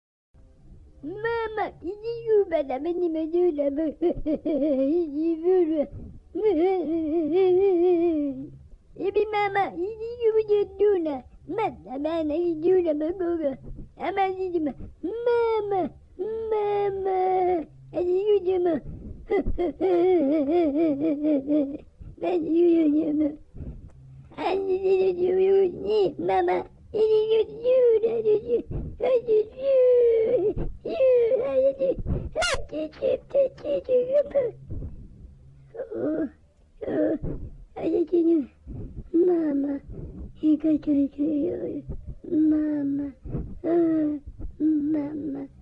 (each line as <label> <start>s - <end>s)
crying 24.4s - 34.6s